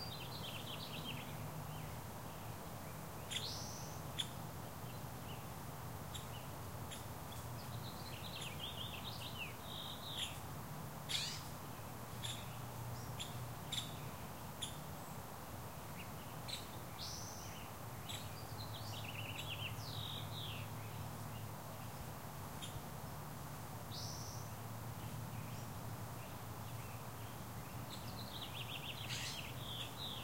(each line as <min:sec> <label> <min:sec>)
0:11.1 Birds Chirping 0:11.5
0:23.9 Birds Chirping 0:30.2